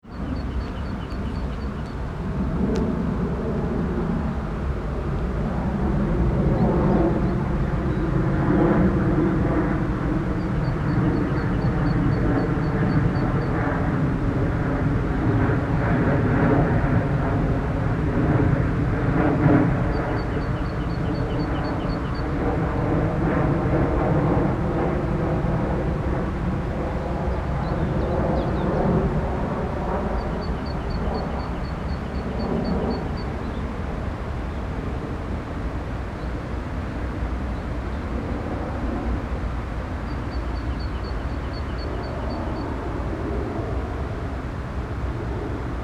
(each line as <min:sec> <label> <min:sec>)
0:00.0 plane crossing the areal 0:45.8
0:19.6 traffic from the nearby highway 0:45.8